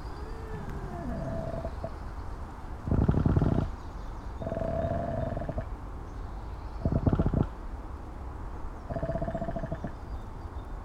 creaking-mic on pine tree 0:00.0 - 0:02.0
creaking-mic on pine tree 0:02.9 - 0:03.8
creaking-mic on pine tree 0:06.8 - 0:07.5

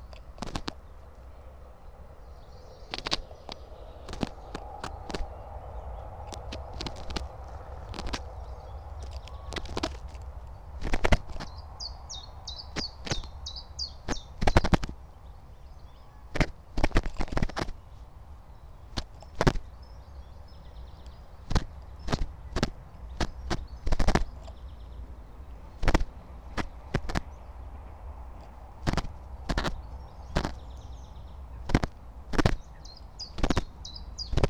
Bird pulling fake fur from the microphone's wind protection 0:00.0 - 0:05.3
Bird pulling fake fur from the microphone's wind protection 0:06.1 - 0:11.5
Bird pulling fake fur from the microphone's wind protection 0:12.4 - 0:13.4
Bird pulling fake fur from the microphone's wind protection 0:14.0 - 0:15.6
Bird pulling fake fur from the microphone's wind protection 0:16.2 - 0:19.7
Bird pulling fake fur from the microphone's wind protection 0:21.0 - 0:24.6
Bird pulling fake fur from the microphone's wind protection 0:25.4 - 0:27.3
Bird pulling fake fur from the microphone's wind protection 0:28.2 - 0:30.7
Bird pulling fake fur from the microphone's wind protection 0:31.5 - 0:34.4

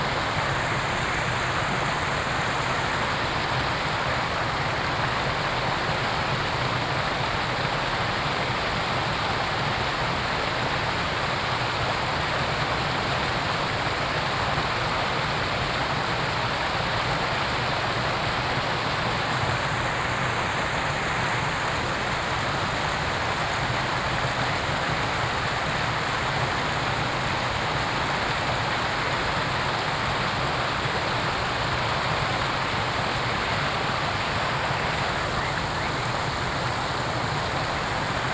Stream 0:00.0 - 0:38.3
birds 0:34.4 - 0:36.9

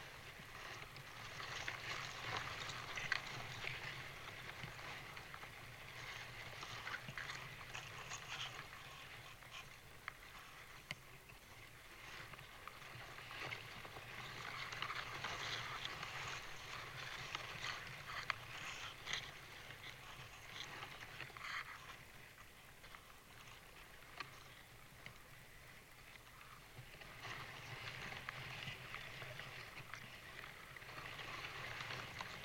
birch tree in gentle wind 0:00.0 - 0:32.4

